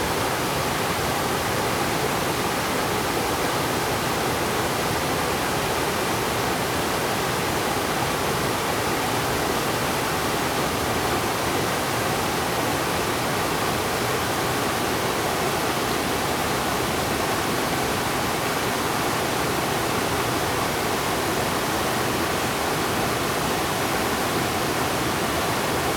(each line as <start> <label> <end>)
0.0 Streams and waterfalls 25.9